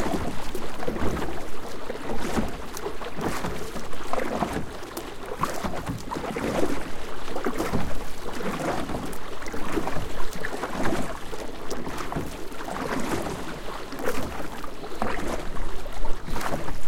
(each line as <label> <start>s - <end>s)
canoe 0.0s - 16.8s
water 0.0s - 16.8s
wind 0.0s - 16.8s